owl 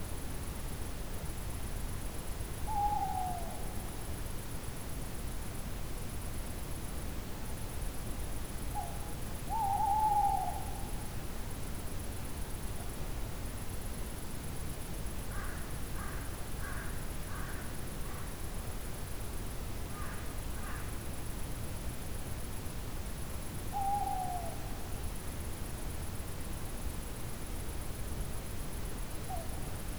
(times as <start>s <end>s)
2.7s 3.7s, 8.8s 10.9s, 23.8s 24.8s